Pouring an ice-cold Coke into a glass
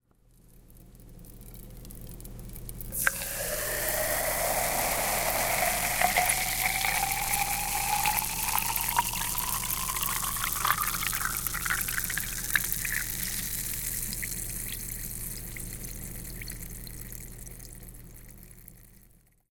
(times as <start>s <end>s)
2.9s 14.0s